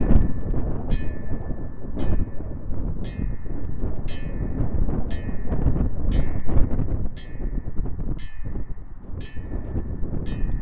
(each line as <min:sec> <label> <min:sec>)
0:00.0 tetherball chain blowing in the wind 0:10.6